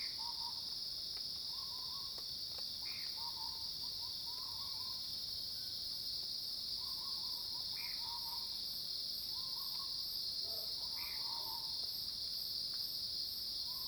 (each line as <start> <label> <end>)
9.4 Cicadas cries 11.8